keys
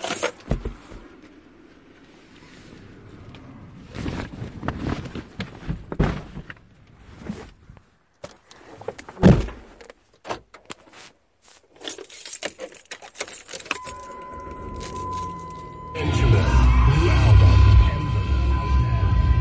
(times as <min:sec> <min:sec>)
0:11.8 0:15.9